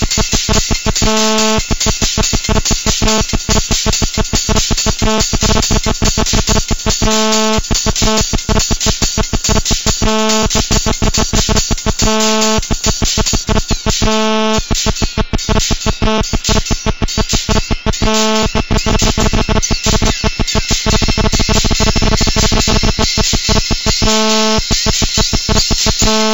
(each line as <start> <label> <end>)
0.0 GSM buzz 26.3